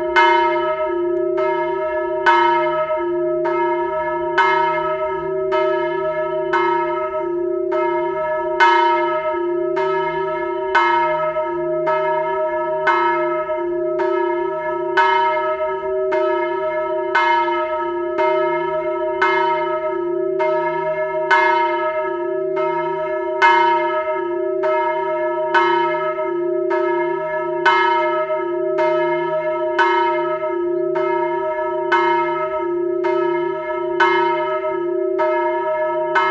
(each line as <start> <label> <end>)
0.0 church bells calls 36.3